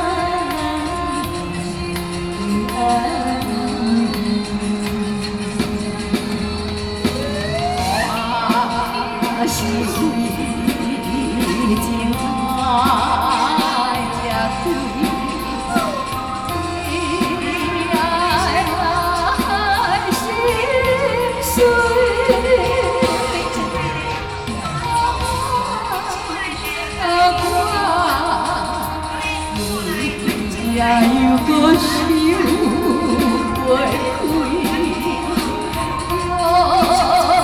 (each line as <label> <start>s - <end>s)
Community party 0.0s - 37.4s